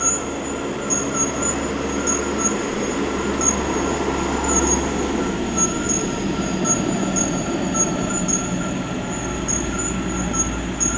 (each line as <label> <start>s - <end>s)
tree frogs 0.0s - 10.9s